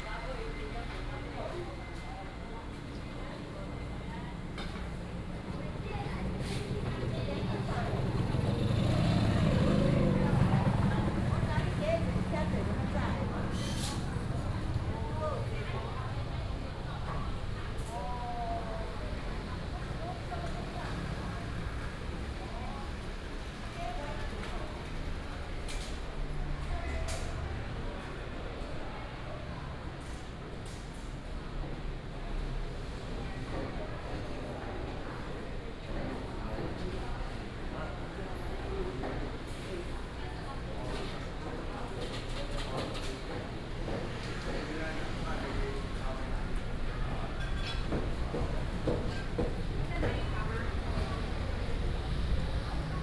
traffic sound 0:00.0 - 0:34.1
Walking in a small alley 0:00.0 - 0:53.0
vendors peddling 0:06.2 - 0:17.8
traffic sound 0:36.2 - 0:53.0
vendors peddling 0:43.4 - 0:53.0

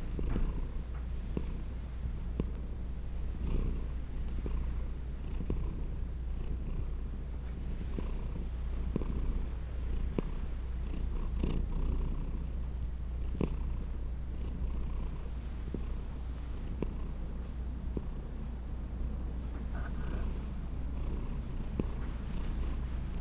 Kitty Purring 0:00.1 - 0:07.0
Kitty Purring 0:07.7 - 0:12.6
Kitty Purring 0:13.2 - 0:23.2

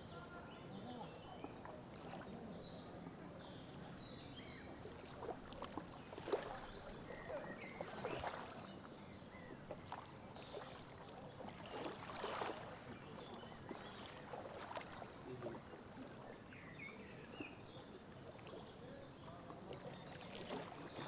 water scooter 0:00.0 - 0:21.0

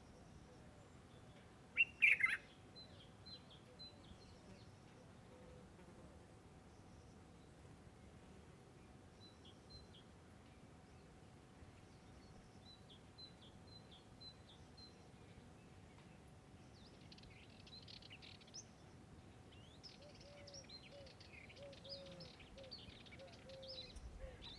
birds 0:16.8 - 0:24.5

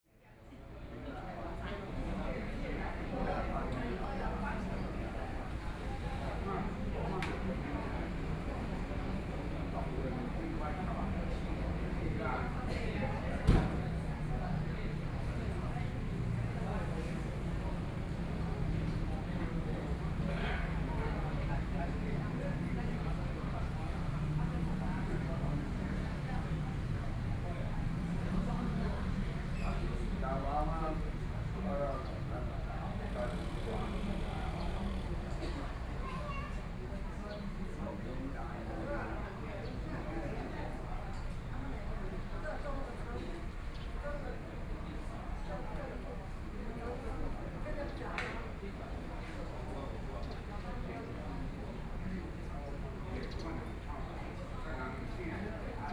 Many tourists 0:00.2 - 0:55.9

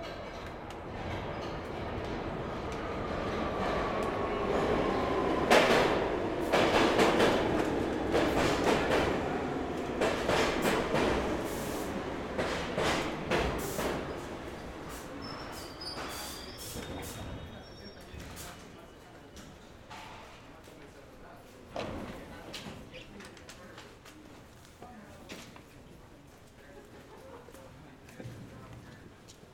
6 train 0:00.0 - 0:24.6

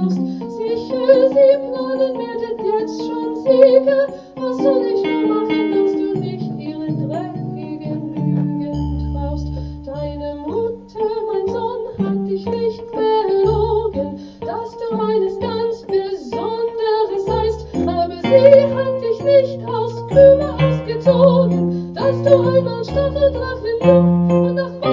singer 0:00.0 - 0:24.9

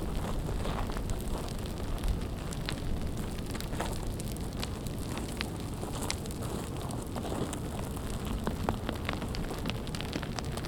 avalanche 0:00.0 - 0:10.6

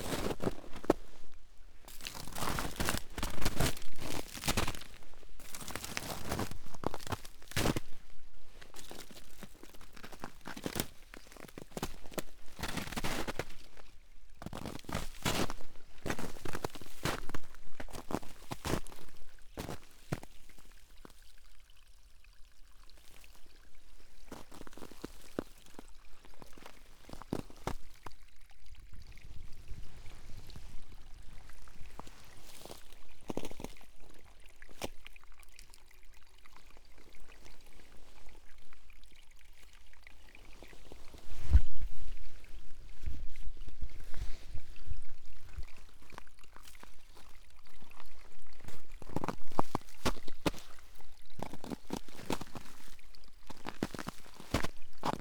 stream 0:00.0 - 0:55.2

